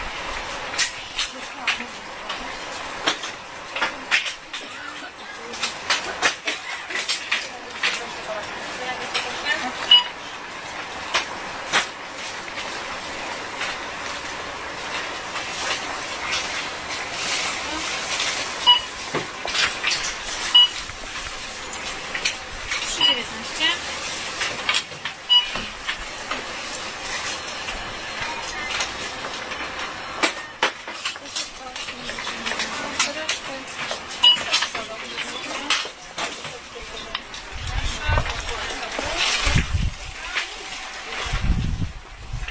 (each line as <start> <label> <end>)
1.3 people 10.1
14.9 cashdesk 37.4